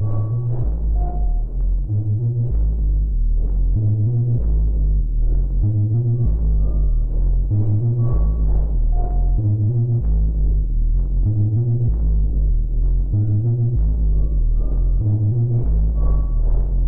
drone 0.0 - 16.8

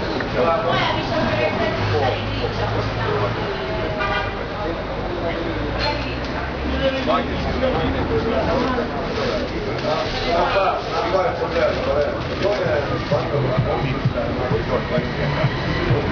chatter 0.0 - 16.1

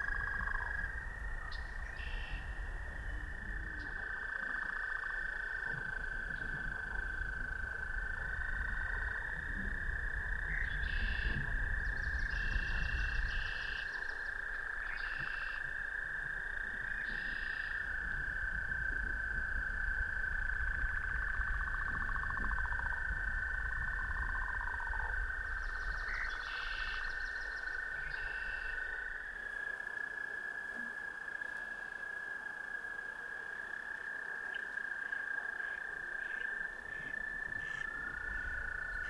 Active frogs 0.0 - 39.0
wind 0.0 - 39.0
birds 10.4 - 15.7
birds 24.9 - 28.9

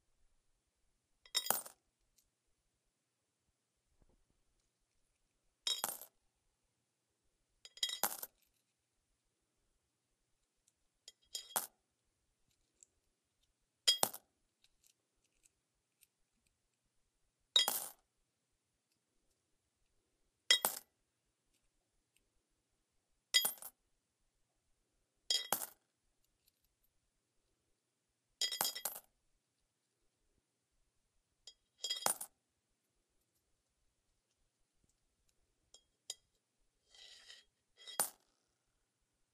Coins sliding across metal and into metal pan full of coins 36.8 - 38.2

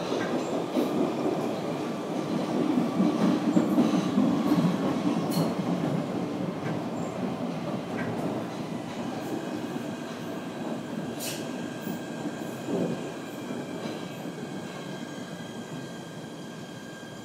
Subway Train Ride 0.0 - 17.2

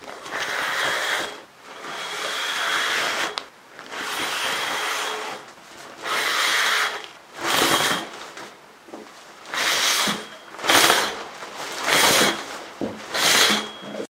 shower curtain being pulled aside at various speeds 0.0 - 8.5
shower curtain being pulled aside at various speeds 9.5 - 14.0

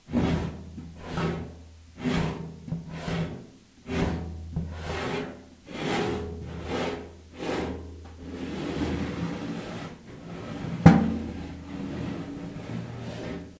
Impact 10.8 - 11.7

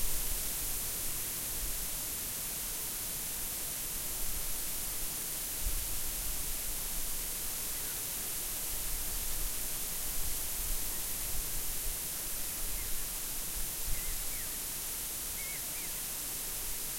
Wind in the bamboo grove 0.0 - 16.9

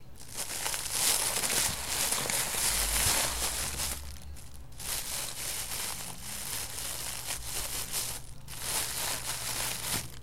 simulating flames using a plastic bag 0.1 - 10.2

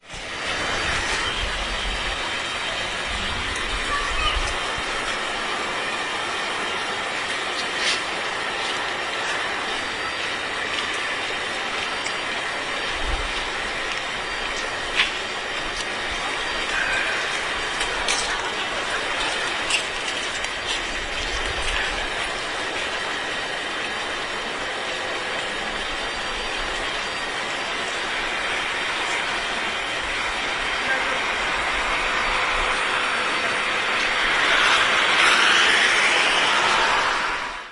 swoosh of hoover 31.9 - 37.7

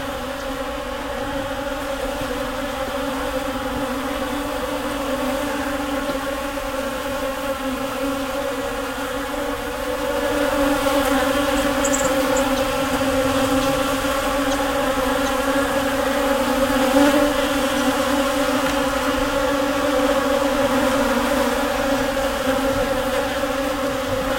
Swarm of bees flying around flowers and food 0.0 - 24.3
farm animals 10.2 - 18.0

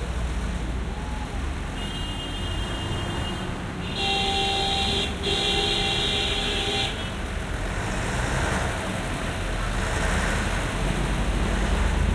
buses 0.0 - 12.1
cars 0.0 - 12.1
jeepneys 0.0 - 12.1
trucks 0.0 - 12.1
motorcycles 6.4 - 12.1

